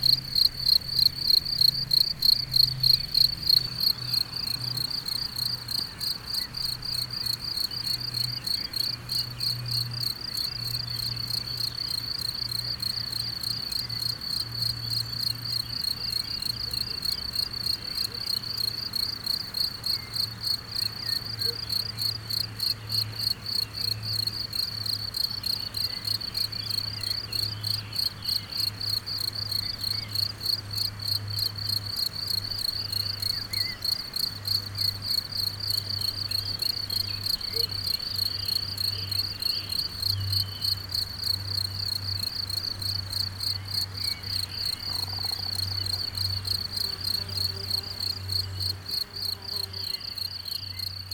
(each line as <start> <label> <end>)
0.0 Locusts are singing in the grass 51.1